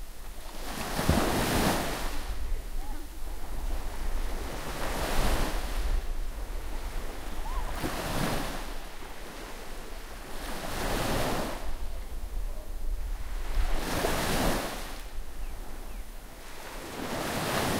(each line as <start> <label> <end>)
0.0 waves lapping at the sandy shoreline 17.7